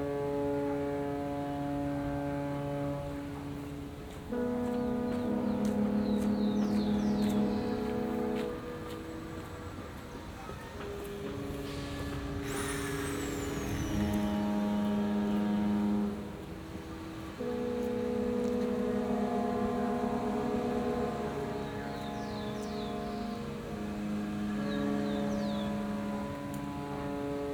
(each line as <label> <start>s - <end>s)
Ship horns 0.0s - 27.5s
Sounds from the city in background 0.0s - 27.5s